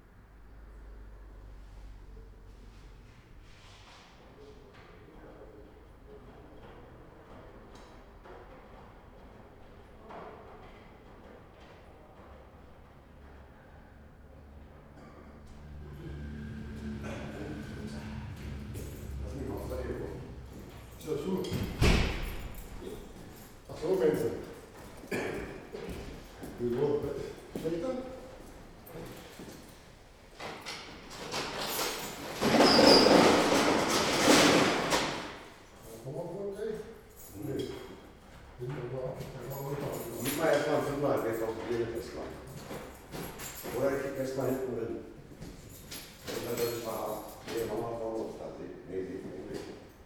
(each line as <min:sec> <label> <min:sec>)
0:15.4 technicians testing cash machine 0:25.8